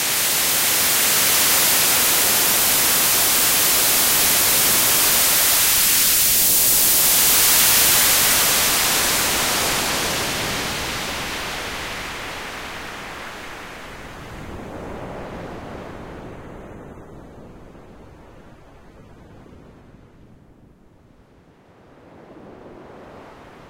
0.0s filtering a white noise source 23.6s

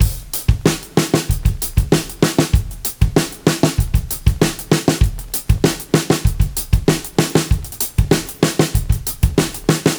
0.0s drum break 9.9s

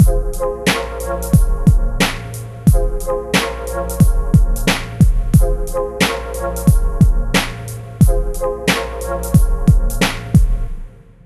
0.0s drum loop 10.8s

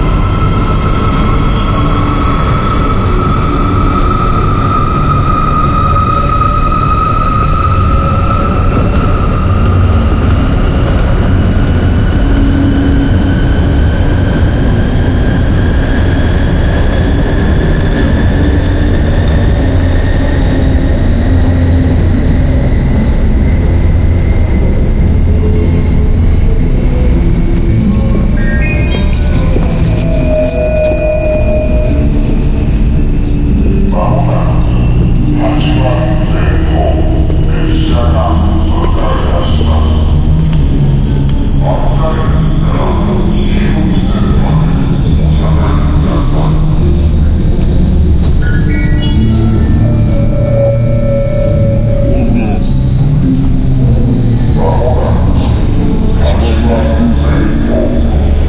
46.6s street musician playing off in the distance 54.6s

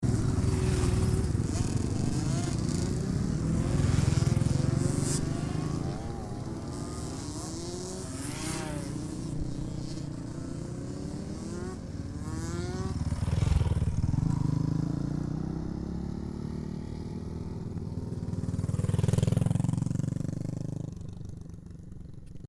0.0s motorcycle 22.4s

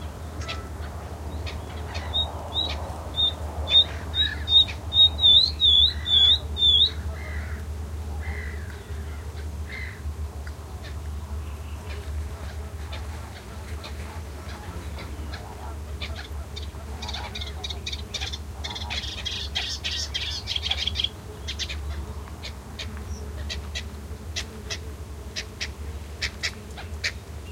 0.0s Mediterranean Gull 7.6s
0.0s Common Coot 10.0s
0.0s Melodious Warbler 27.5s
0.0s insect buzzings 27.5s
10.8s Common Coot 27.2s
10.8s Black-winged Stilt 22.6s
11.8s Mediterranean Gull 22.0s

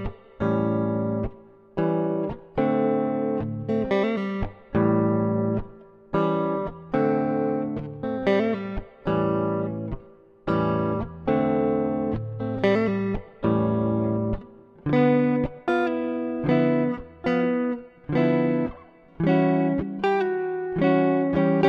0.0s electric guitar 21.6s

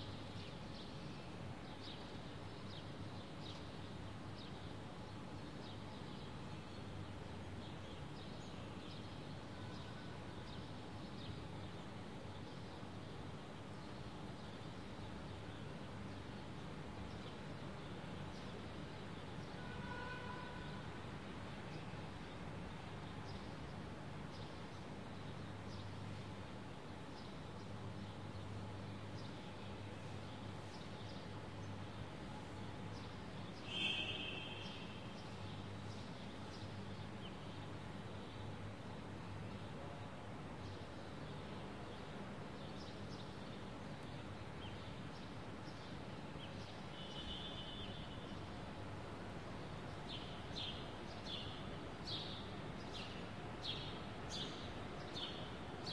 0.0s light traffic car 54.2s
21.7s Birds 48.8s

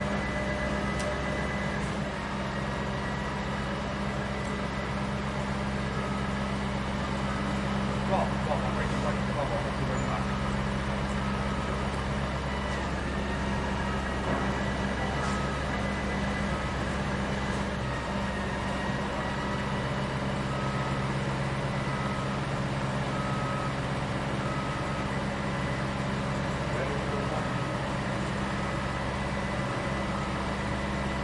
0.0s machinery 31.2s

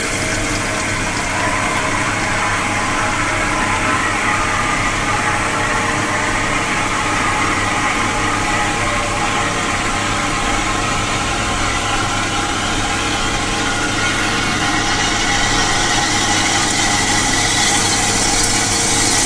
0.0s waterflush 19.2s

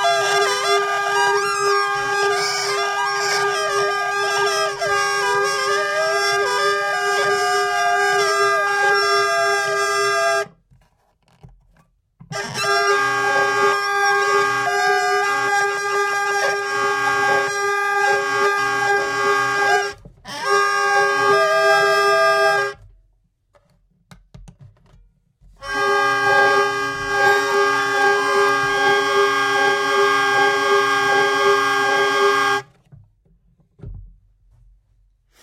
0.0s hurdy-gurdy playing 10.5s
12.4s hurdy-gurdy playing 22.8s
12.6s Tuning peg 22.7s
25.6s hurdy-gurdy playing 32.7s
25.6s Tuning peg 32.7s

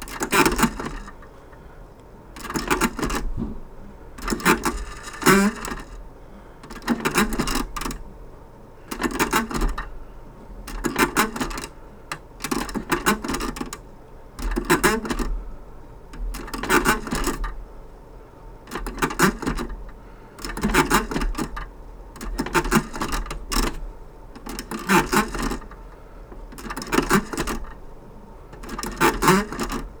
0.0s antique slot machine lever pulls 1.2s
10.7s antique slot machine lever pulls 13.8s
26.5s antique slot machine lever pulls 27.8s
28.6s antique slot machine lever pulls 30.0s

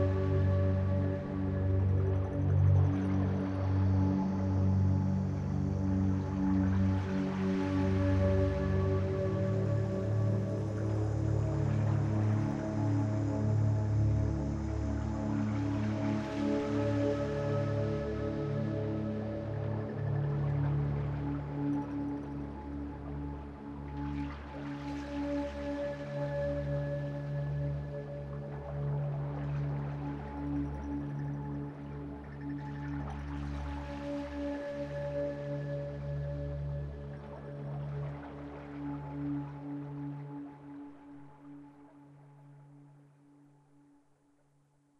0.0s synthesizer 44.9s
0.0s water 44.9s

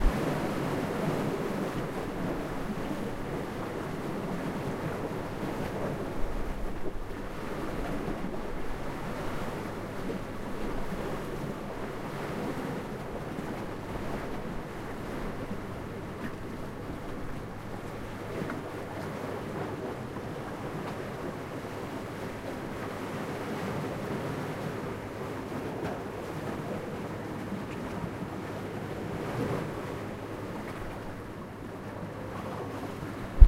0.0s waves 33.4s
0.0s wind 33.4s

